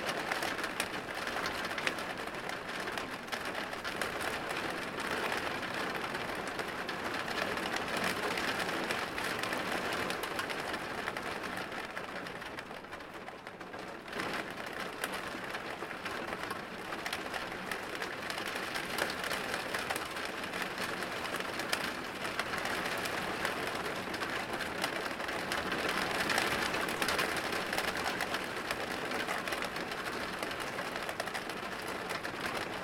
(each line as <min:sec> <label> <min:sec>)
0:00.0 Rain hitting the window 0:32.8